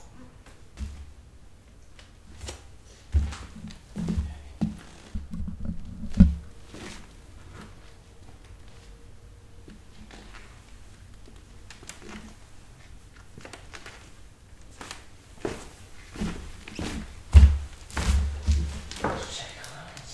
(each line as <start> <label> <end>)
2.4 Creaking footsteps on hardwood floor 8.9
14.8 Creaking footsteps on hardwood floor 19.5